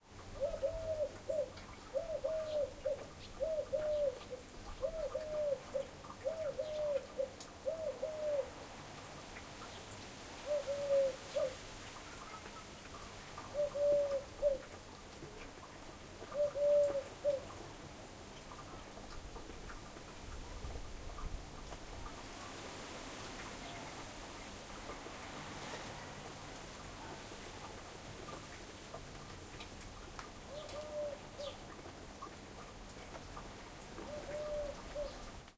wind 0.0 - 35.5

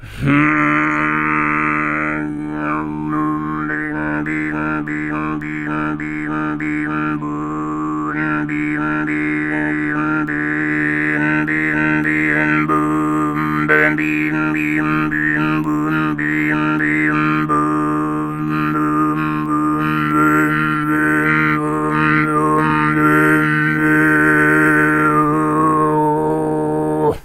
low + overtone singing 0.0 - 27.2

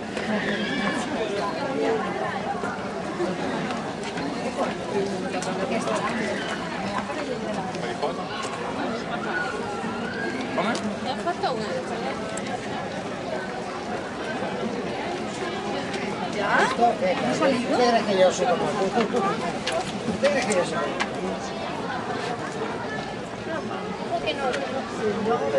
People talking next to us 0.0 - 25.5

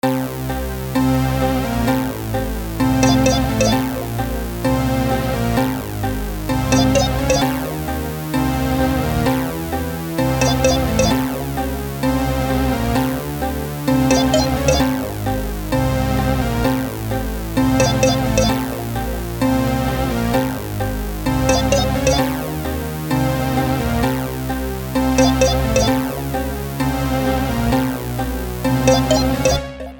Electronic music 2.8 - 4.8
Electronic music 6.5 - 8.0
Electronic music 10.2 - 11.6
Electronic music 14.0 - 15.6
Electronic music 17.6 - 19.0
Electronic music 21.3 - 22.7
Electronic music 25.1 - 26.5
Electronic music 28.6 - 29.9

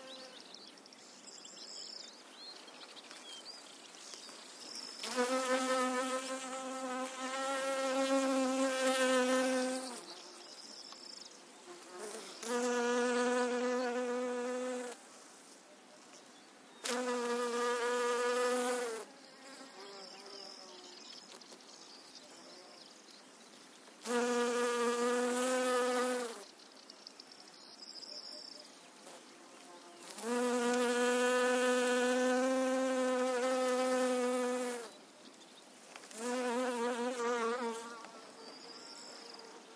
buzzing of honeybees foraging 4.8 - 10.5
buzzing of honeybees foraging 11.6 - 15.0
buzzing of honeybees foraging 16.8 - 21.0
buzzing of honeybees foraging 24.0 - 26.5
buzzing of honeybees foraging 29.0 - 35.0
buzzing of honeybees foraging 36.0 - 39.7

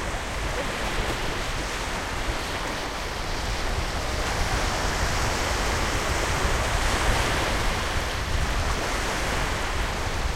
waves 0.0 - 10.3

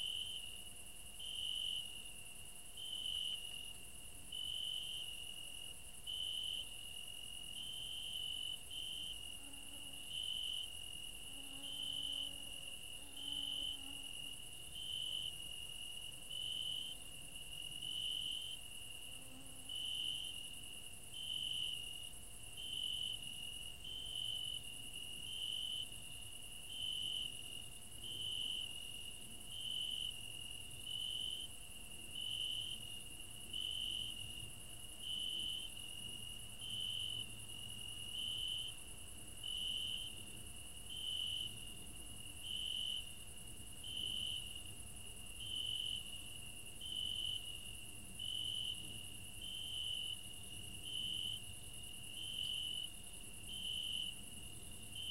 cricket 0.0 - 55.1

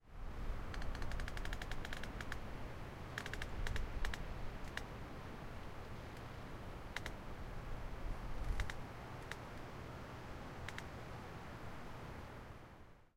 wind 0.0 - 13.1
tree creak 05 0.6 - 2.4
tree creak 05 3.1 - 4.9
tree creak 05 8.4 - 9.4

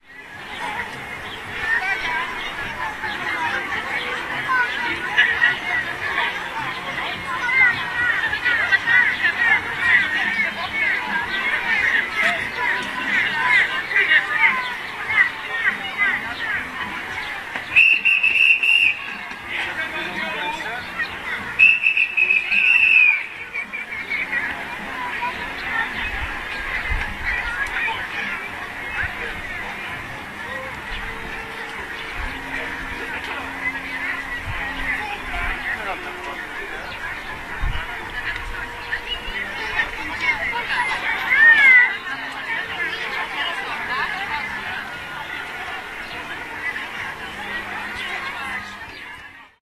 people are leaving the circus tent 0.0 - 49.6
clown are whistling and shouting out 17.8 - 19.0
clown are whistling and shouting out 21.6 - 23.2

